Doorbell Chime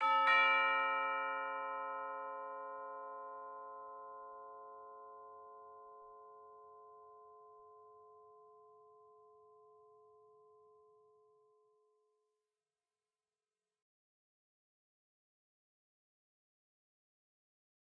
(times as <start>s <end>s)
0.0s 11.0s